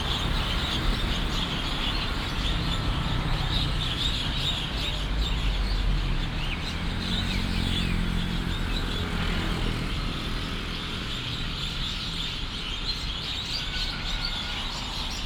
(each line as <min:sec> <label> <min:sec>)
0:00.0 Traffic sound 0:15.2
0:00.0 large number of birds 0:15.2